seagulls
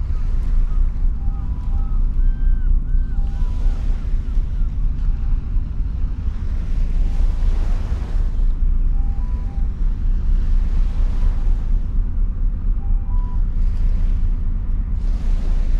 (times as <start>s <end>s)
0.3s 4.8s